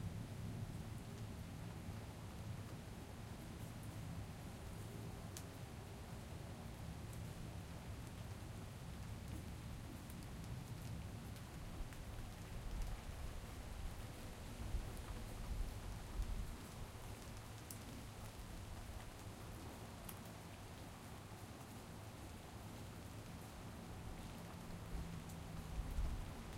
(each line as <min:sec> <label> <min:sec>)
0:00.0 Summer Rain 0:26.5